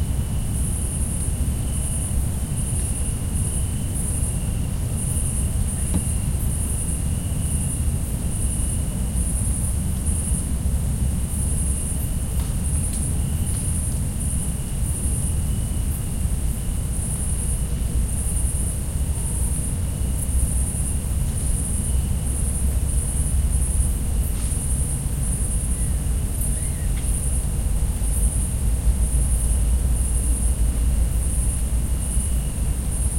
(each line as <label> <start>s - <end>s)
cicadas 0.0s - 33.1s
crickets 0.0s - 33.1s